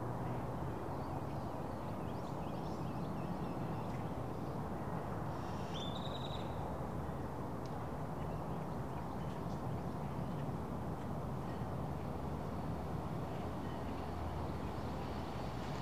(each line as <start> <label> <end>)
10.8 nearby bridge 15.8